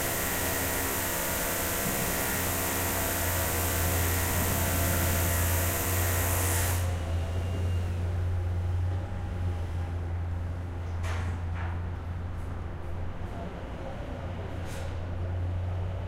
construction 0.0 - 16.0

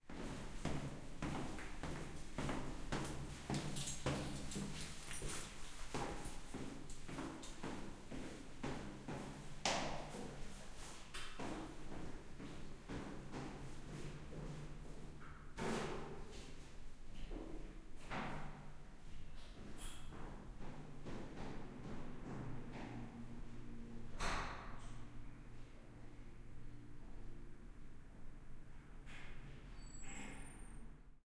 Woman walking down stairs 0.1 - 23.8
keys in her hand 3.8 - 5.6

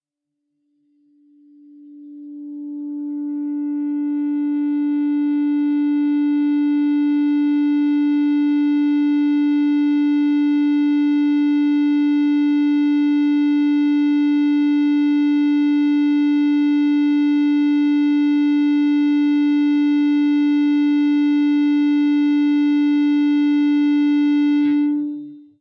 Feedback from the open D (4th) string 24.0 - 25.6

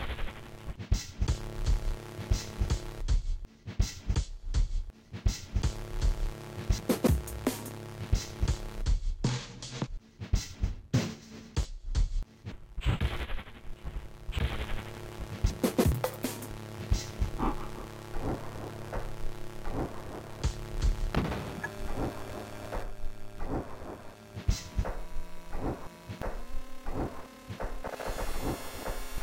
crunchy noise 12.8 - 29.2

